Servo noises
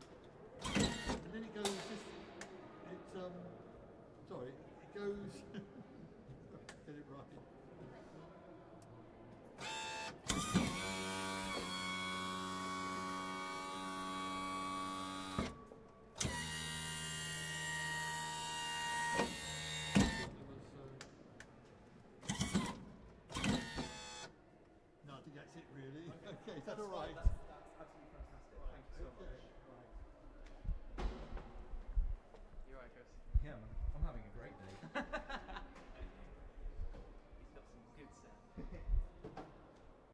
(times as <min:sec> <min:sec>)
0:00.6 0:01.3, 0:09.6 0:15.6, 0:16.2 0:20.4, 0:22.2 0:24.3